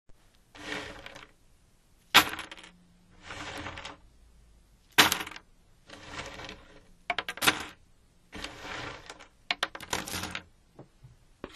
Jigsaw puzzle pieces being dropped onto a table 0:02.2 - 0:02.7
Jigsaw puzzle pieces being dropped onto a table 0:05.0 - 0:05.4

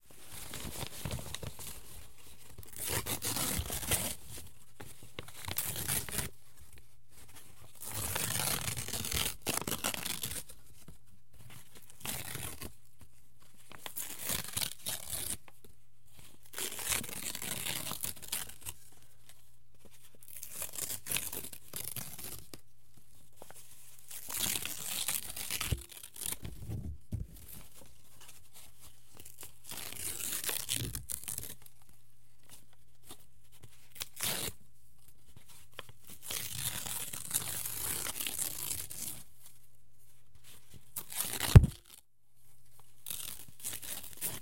ripping thick paper 0:24.3 - 0:27.6
ripping thick paper 0:41.1 - 0:42.0

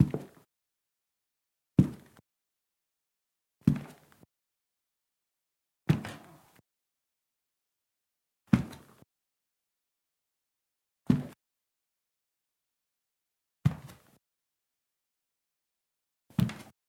Heavy Footsteps on Staircase Landing Wearing Brogues 0:00.0 - 0:00.4
Heavy Footsteps on Staircase Landing Wearing Brogues 0:01.8 - 0:02.2
Heavy Footsteps on Staircase Landing Wearing Brogues 0:03.6 - 0:04.2
Heavy Footsteps on Staircase Landing Wearing Brogues 0:08.5 - 0:09.0
Heavy Footsteps on Staircase Landing Wearing Brogues 0:16.3 - 0:16.7

